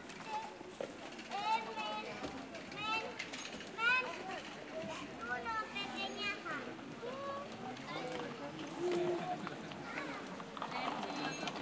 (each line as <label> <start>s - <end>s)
children 0.0s - 11.6s